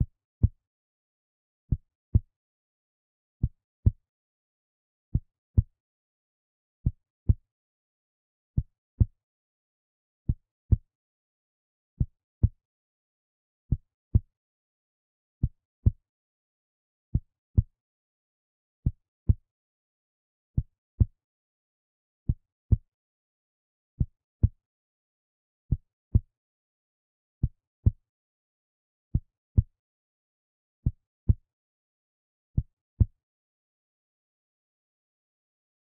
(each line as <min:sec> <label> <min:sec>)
0:30.8 Human heartbeat 0:31.5
0:32.6 Human heartbeat 0:33.2